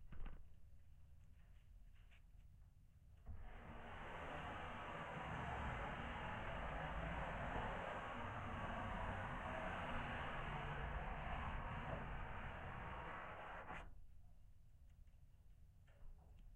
hands scrape a wooden plinth 0:03.3 - 0:13.9

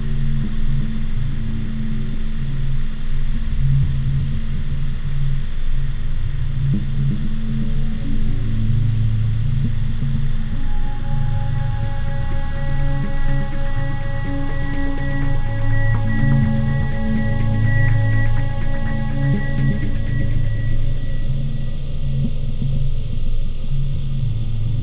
synth 0:10.2 - 0:21.9

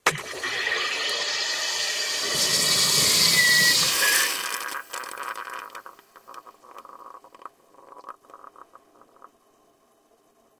Carbonated 0:00.0 - 0:09.4

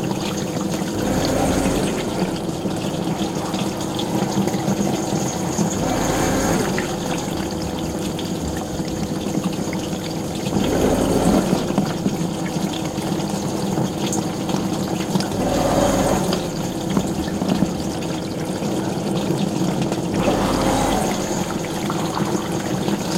running dishwasher 0:00.0 - 0:23.1

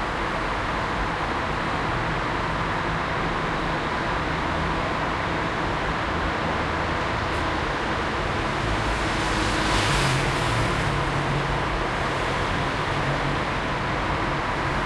Heavy traffic 0:00.0 - 0:14.8

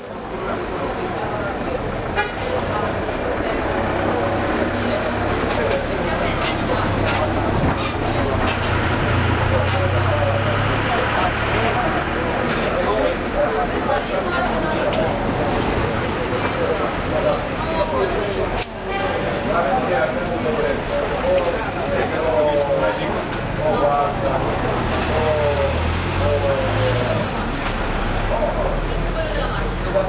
chatter 0:00.0 - 0:30.0

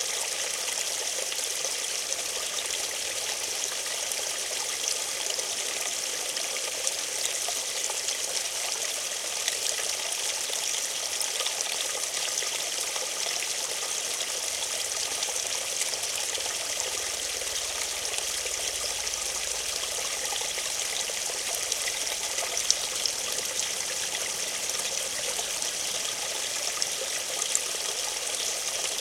Small brook gurgling 0:00.0 - 0:29.0

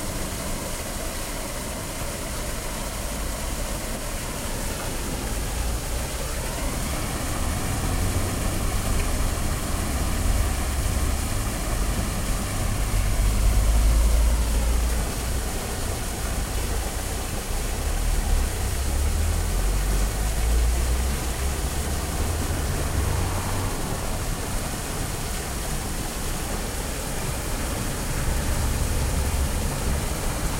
Traffic 0:00.0 - 0:30.5
strong rain 0:00.0 - 0:30.5

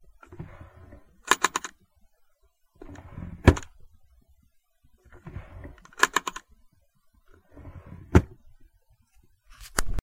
Small Nightstand Drawer 0:00.2 - 0:01.8
Small Nightstand Drawer 0:02.8 - 0:03.8
Small Nightstand Drawer 0:05.0 - 0:06.5
Small Nightstand Drawer 0:07.3 - 0:08.5

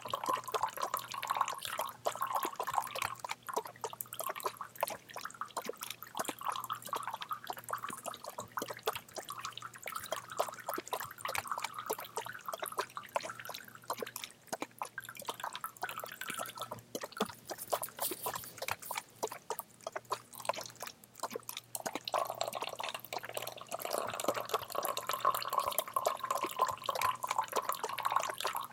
bubble 0:00.0 - 0:28.7

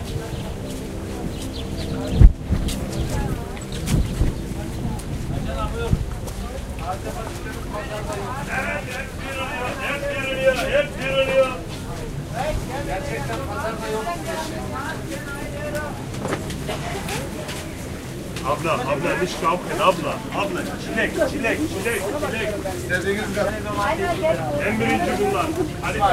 Birds chirping 0:00.0 - 0:11.7
Turkish Women chatting 0:00.0 - 0:26.1
steps 0:00.0 - 0:26.1
Marketers shouting in German and Turkish 0:07.6 - 0:11.7
Birds chirping 0:13.8 - 0:26.1
Marketers shouting in German and Turkish 0:23.9 - 0:26.1

